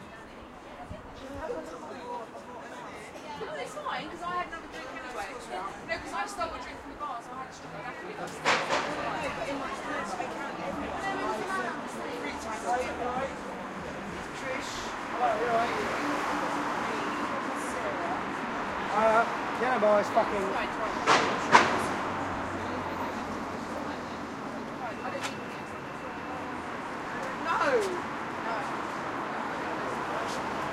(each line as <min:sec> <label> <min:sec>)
0:00.0 chatter 0:30.7
0:00.0 main road 0:30.7